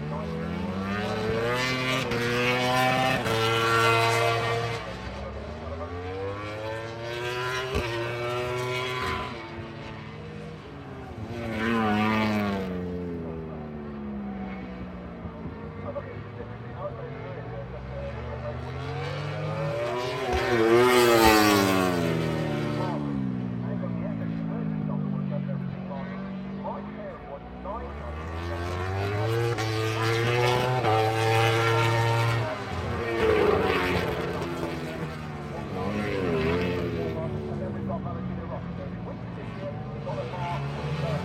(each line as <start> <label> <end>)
0.0 Motorcycle Grand Prix 41.2
11.2 commentary 41.2